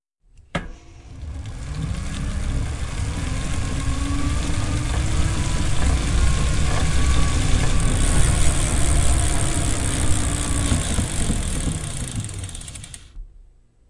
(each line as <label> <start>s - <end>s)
bicycle sounds 1.0s - 13.2s